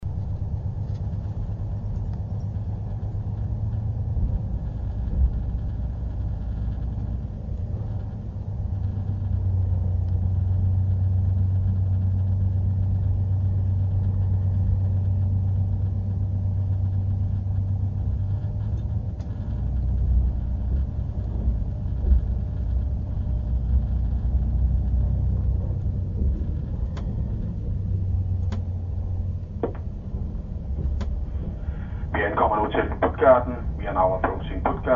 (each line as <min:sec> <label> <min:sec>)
0:00.0 motor roars 0:33.0
0:18.1 rails ratter 0:31.9
0:32.1 conductor proves to be multilingual 0:34.9